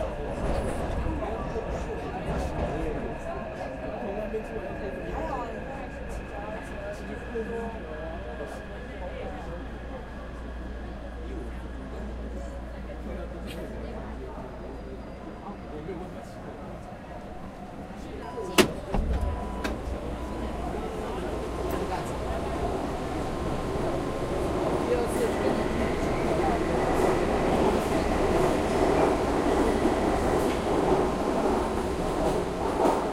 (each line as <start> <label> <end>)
0.0 metro subway 33.1